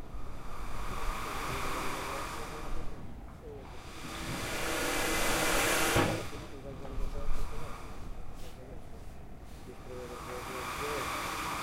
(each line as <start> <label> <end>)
0.0 waves 3.0
9.6 waves 11.6